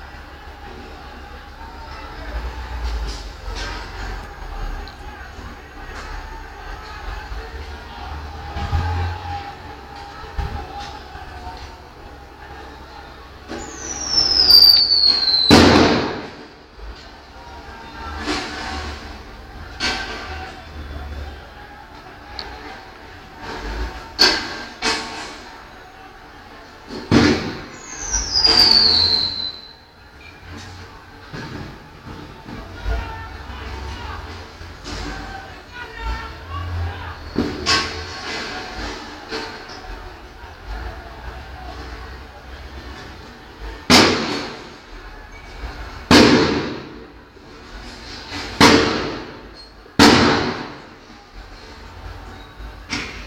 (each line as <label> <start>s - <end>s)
clashes between people and police 0.0s - 53.2s
people started to protest 0.0s - 53.2s